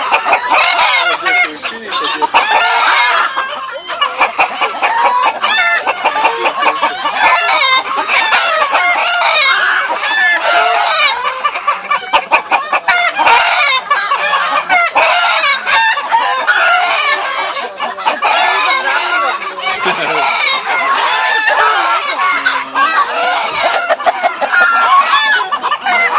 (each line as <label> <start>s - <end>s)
rooster 0.0s - 26.1s